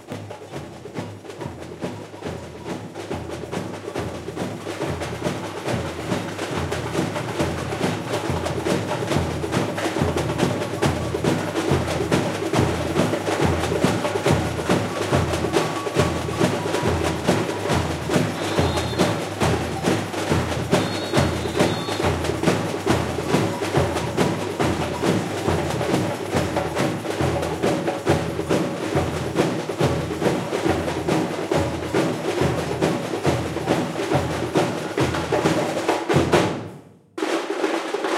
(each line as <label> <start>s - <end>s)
surdo 0.0s - 36.6s
agogo 0.0s - 38.1s
tamborim 0.0s - 38.1s
caixa 3.6s - 29.8s